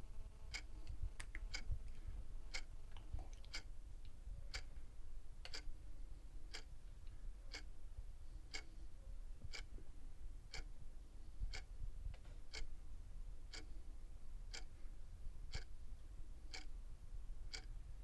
wall clock 0:00.0 - 0:02.8
wall clock 0:03.4 - 0:05.8
wall clock 0:06.4 - 0:07.8
wall clock 0:08.4 - 0:09.9
wall clock 0:10.5 - 0:12.8
wall clock 0:13.4 - 0:13.8
wall clock 0:14.4 - 0:15.8
wall clock 0:16.4 - 0:16.8
wall clock 0:17.4 - 0:18.0

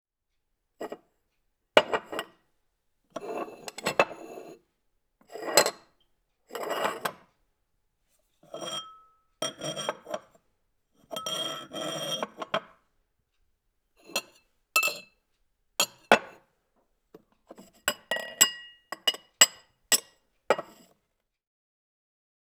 Handling drinking glasses of various sizes and shapes 0:01.8 - 0:02.3
Handling drinking glasses of various sizes and shapes 0:03.2 - 0:04.6
Handling drinking glasses of various sizes and shapes 0:05.3 - 0:05.8
Handling drinking glasses of various sizes and shapes 0:06.6 - 0:07.2
Handling drinking glasses of various sizes and shapes 0:08.5 - 0:10.3
Handling drinking glasses of various sizes and shapes 0:11.0 - 0:12.8
Handling drinking glasses of various sizes and shapes 0:14.0 - 0:15.1
Handling drinking glasses of various sizes and shapes 0:15.8 - 0:16.4
Handling drinking glasses of various sizes and shapes 0:17.5 - 0:20.9

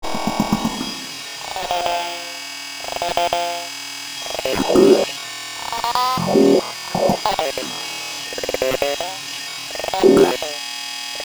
droning landscape glitch effects 0:00.0 - 0:11.1
Buzz 0:00.0 - 0:11.2
robotic alien glitch fx 0:04.3 - 0:09.2
robotic alien glitch fx 0:09.8 - 0:10.6

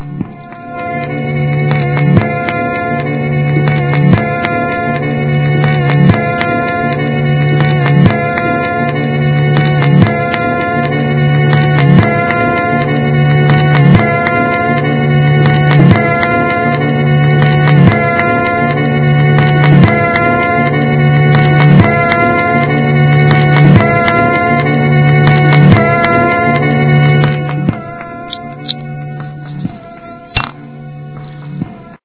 record skipping on a broken turntable 0:07.6 - 0:30.6

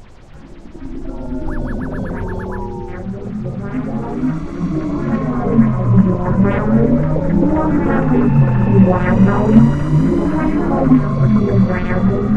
spaceship/ufo engine sound 0:00.0 - 0:12.3

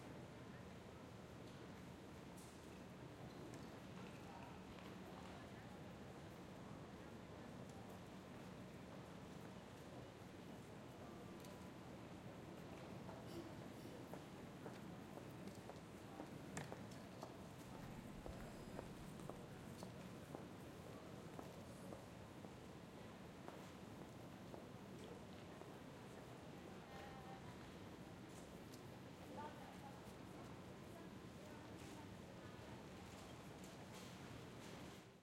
People 0:24.9 - 0:34.8

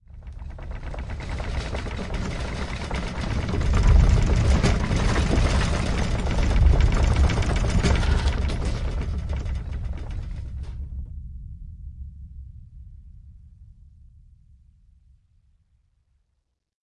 earth tremor rumble 0:00.0 - 0:13.3
tray of crockery being shaken 0:00.4 - 0:10.7

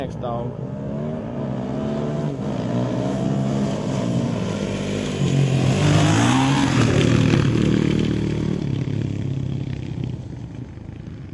motorcycle dirt bike motocross pass by medium speed 0:00.0 - 0:11.3
jump dirt ramp 0:01.1 - 0:11.2

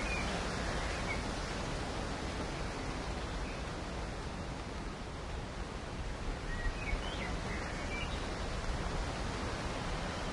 birdsong 0:00.0 - 0:01.5
Rain in the Forest 0:00.0 - 0:10.3
wind 0:00.0 - 0:10.3
birdsong 0:06.4 - 0:08.4

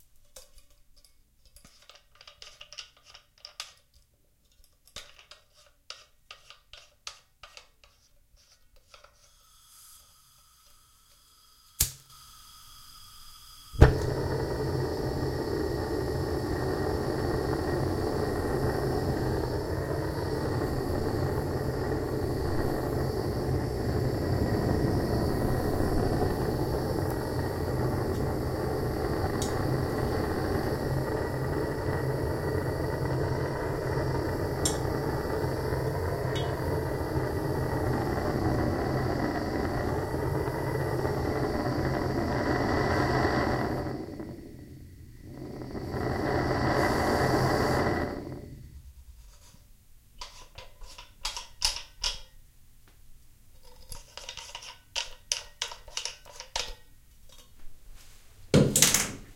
benzomatic torch 0:08.9 - 0:49.0
flick of a lighter 0:11.7 - 0:14.2
flick of a lighter 0:34.3 - 0:35.4

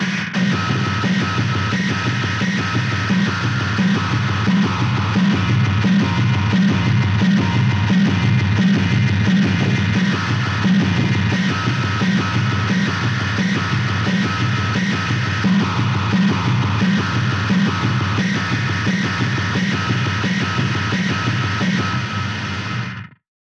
Bass Drum 0:00.0 - 0:23.0

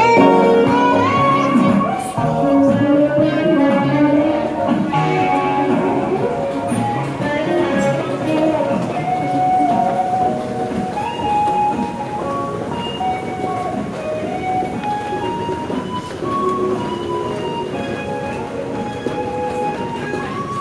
Announcements 0:00.0 - 0:20.6
Someone plays music 0:00.0 - 0:20.6
footsteps 0:00.0 - 0:20.6
train departs 0:00.0 - 0:20.6
train finally arrives 0:00.0 - 0:20.6
Doors of the train close 0:04.3 - 0:20.6

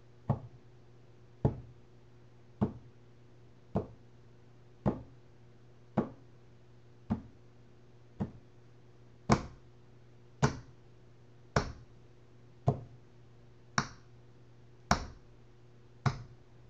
hitting my wood desk with the tips of my fingers 0:08.2 - 0:08.4
hitting my wood desk with the tips of my fingers 0:09.3 - 0:09.6
tapping my fingernails 0:13.8 - 0:14.0
hitting my wood desk with the tips of my fingers 0:16.0 - 0:16.4

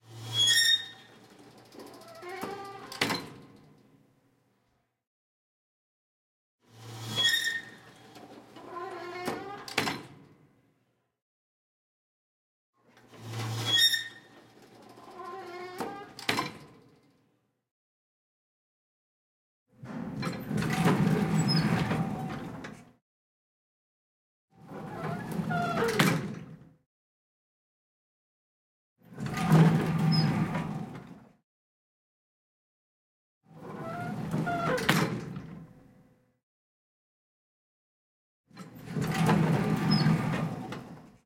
squeaks 0:13.6 - 0:14.4
Elevator Doors 0:38.8 - 0:41.1

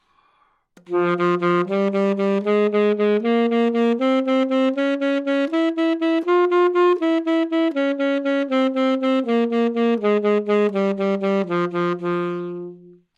Sax Alto 0:00.8 - 0:13.1

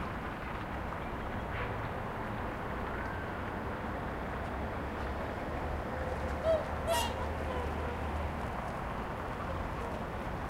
cars 0:00.0 - 0:10.4
swans 0:06.0 - 0:10.4
ducks 0:06.4 - 0:08.0

